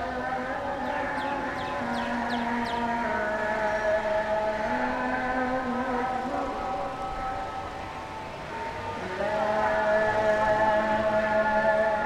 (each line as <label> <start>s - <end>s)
Evening Azhan 0.0s - 12.0s
Birds 0.6s - 4.2s